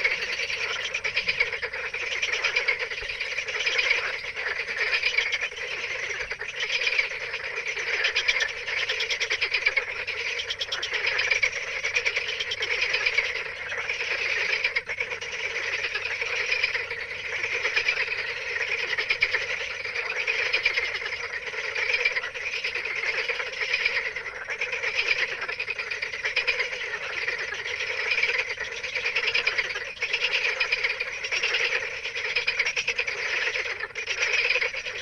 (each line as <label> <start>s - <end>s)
night frogs in a pond 0.0s - 35.0s